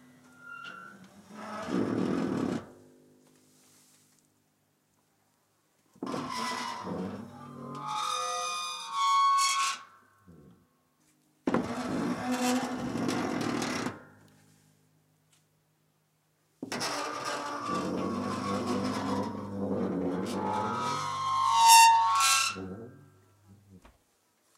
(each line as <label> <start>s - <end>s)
creaking dishwasher 16.6s - 21.5s